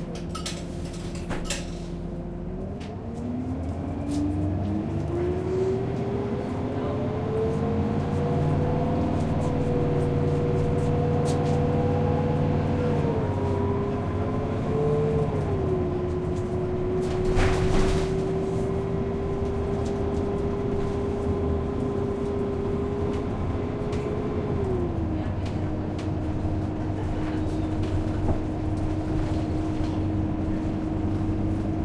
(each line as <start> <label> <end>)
0.0 bus is just idling 31.8
0.0 bus shifts into gear 2.2